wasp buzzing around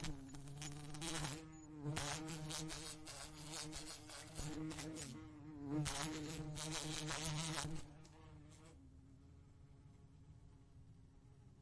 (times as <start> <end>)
0.0 8.8